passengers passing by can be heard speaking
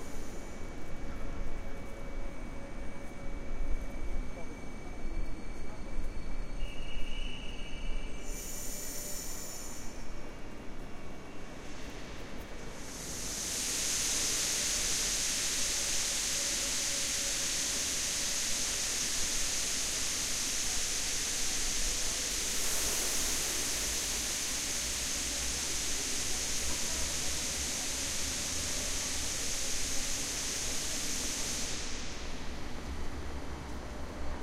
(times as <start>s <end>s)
0.4s 11.6s, 20.6s 34.4s